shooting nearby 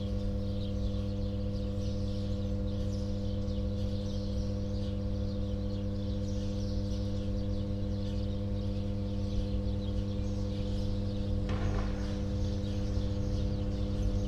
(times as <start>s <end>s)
11.4s 14.2s